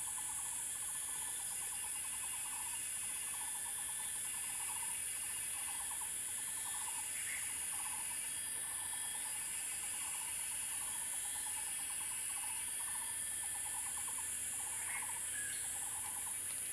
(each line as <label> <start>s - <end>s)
Cicada 0.0s - 16.7s